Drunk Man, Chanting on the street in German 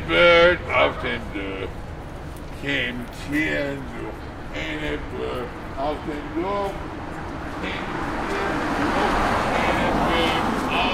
0.0 1.7, 7.6 10.9

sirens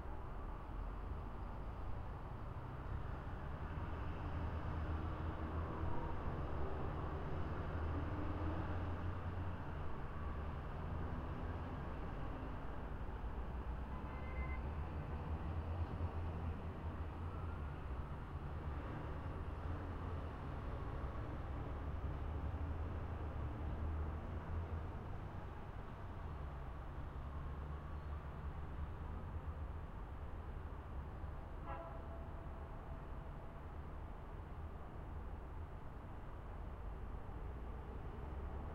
17.0 18.1

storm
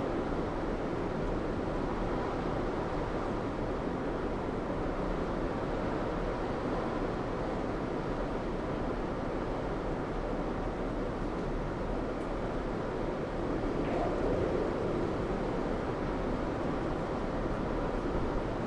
12.6 18.6

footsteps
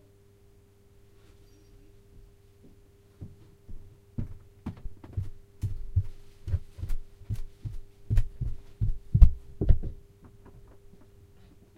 2.1 11.1

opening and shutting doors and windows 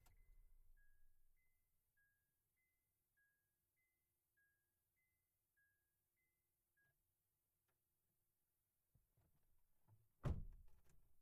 10.2 11.1

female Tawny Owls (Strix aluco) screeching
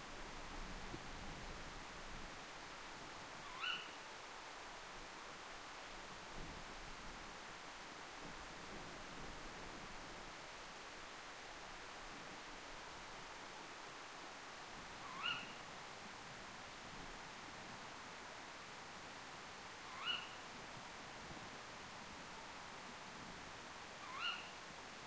3.5 3.9, 19.9 20.3, 24.0 24.5

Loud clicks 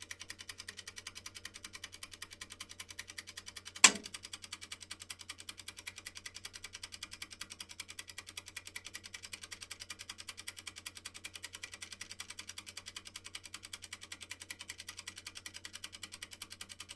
3.8 4.2

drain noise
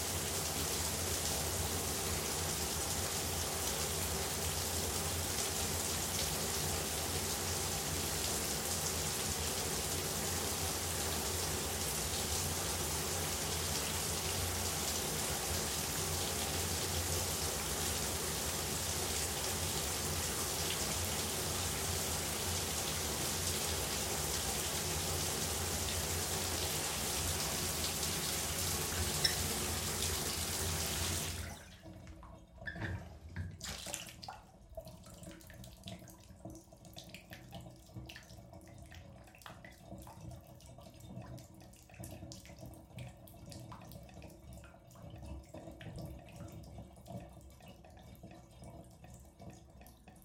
14.6 31.5

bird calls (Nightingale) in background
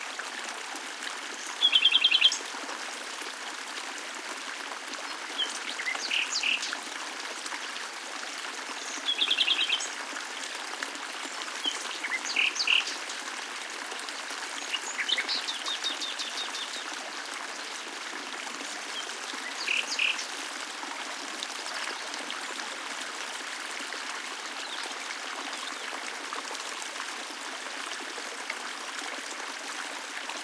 5.4 6.8, 11.6 13.0, 14.6 16.9, 19.0 20.3

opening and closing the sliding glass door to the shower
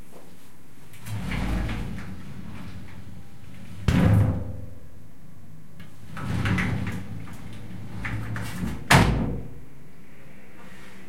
0.9 4.8, 5.8 9.5

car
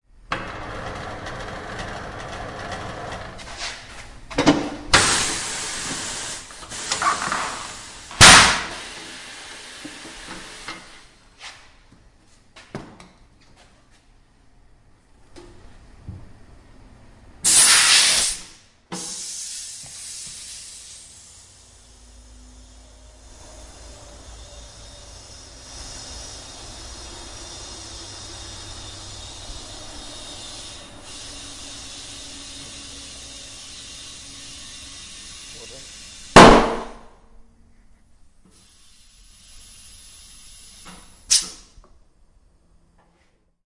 19.7 36.4

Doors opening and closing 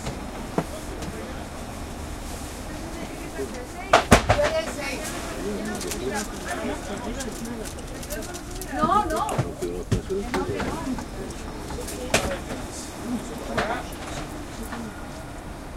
3.0 15.6

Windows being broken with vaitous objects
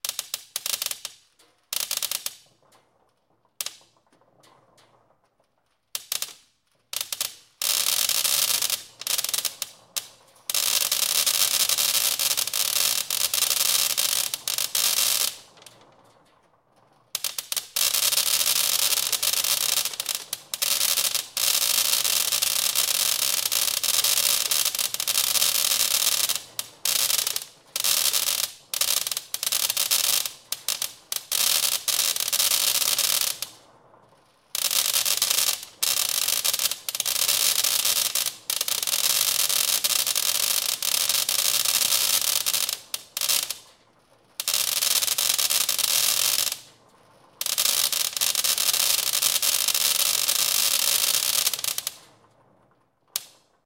1.1 29.4

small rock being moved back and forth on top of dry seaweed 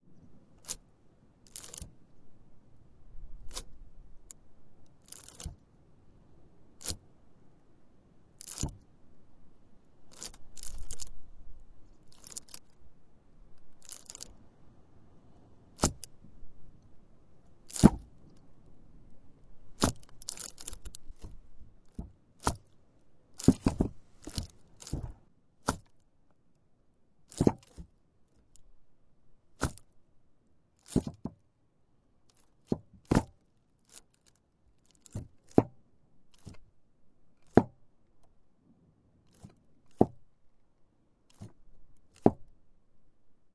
0.6 0.8, 1.4 2.0, 3.3 5.7, 6.7 7.1, 8.4 8.9, 10.0 12.9, 13.5 14.4, 15.6 16.7, 17.5 18.8, 19.6 26.0, 27.3 28.8, 29.5 29.9, 30.8 31.4, 32.3 36.7, 37.4 37.8, 39.2 40.3, 41.3 42.6

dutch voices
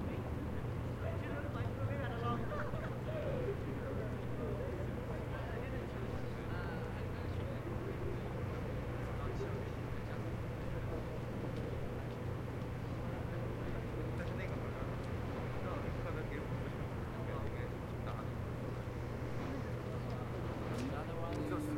16.4 21.7

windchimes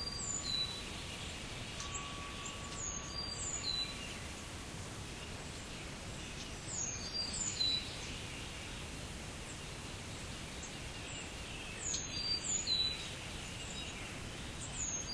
1.6 4.8

